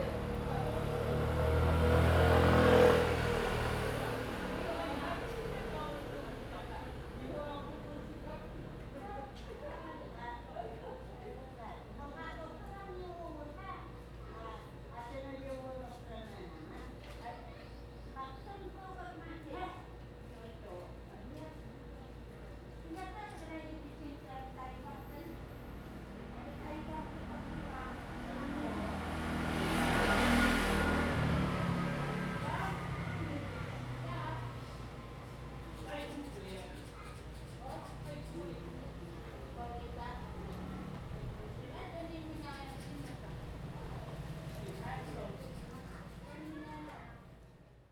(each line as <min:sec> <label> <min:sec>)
0:00.0 Traffic Sound 0:07.6
0:23.7 A group of elderly chat dialogue 0:46.8
0:25.3 Traffic Sound 0:36.4
0:37.2 Traffic Sound 0:47.0